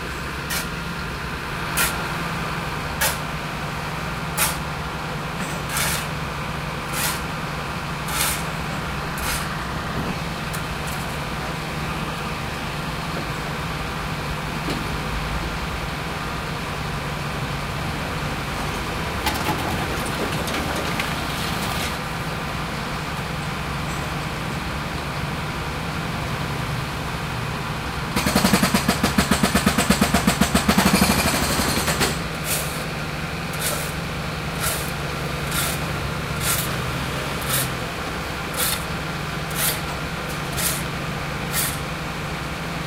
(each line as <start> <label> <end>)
0.0 excavation 15.2
0.0 workers 42.8
17.8 excavation 23.4
28.1 excavation 42.8
28.2 jackhammer 32.7